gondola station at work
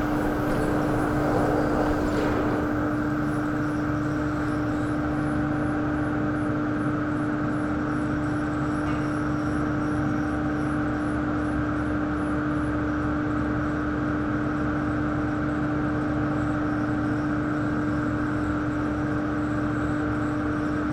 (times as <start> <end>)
0.0 10.2